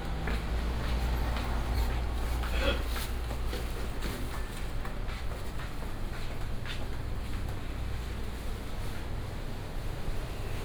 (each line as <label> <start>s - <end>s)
Traffic sound 0.0s - 6.1s
Walking through the market 0.0s - 10.6s